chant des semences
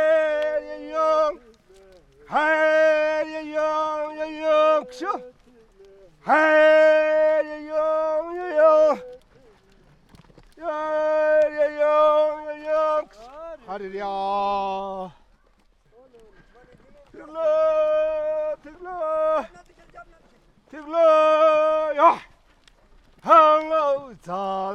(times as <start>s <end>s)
0.0s 9.2s, 10.6s 13.1s